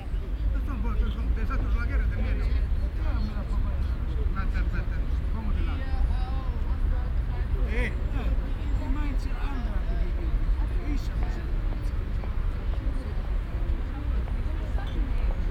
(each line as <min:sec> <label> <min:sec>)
0:00.0 parkbankgespräche 0:15.5